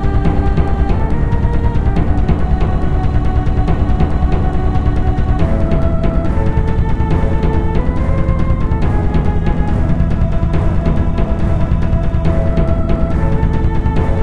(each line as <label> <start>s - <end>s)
Bass 0.0s - 14.2s
Choir 0.0s - 14.2s
Drums 0.0s - 14.2s
Flute 0.0s - 14.2s
Pad 0.0s - 14.2s
Strings 0.0s - 14.2s